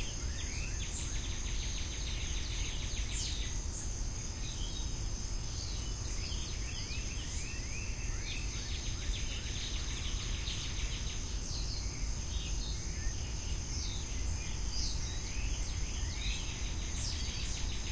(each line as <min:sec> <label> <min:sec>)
0:00.0 Cicadas 0:17.9